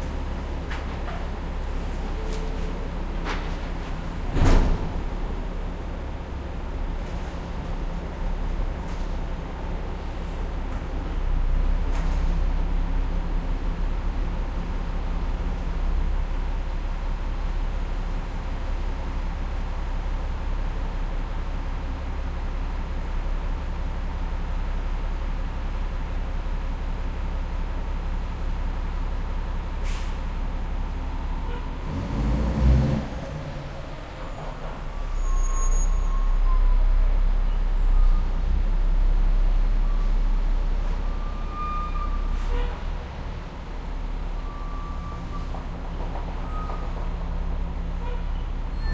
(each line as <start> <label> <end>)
4.2 Garbage truck picking up trashing 5.2